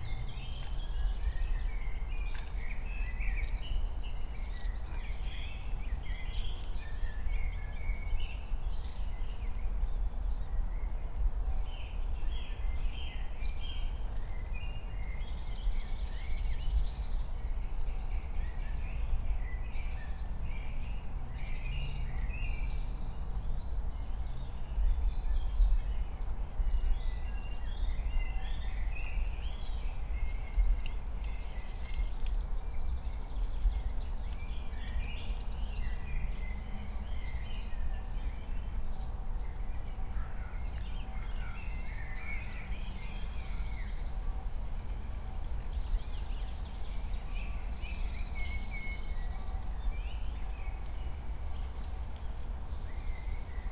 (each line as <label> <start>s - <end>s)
wind 0.0s - 53.7s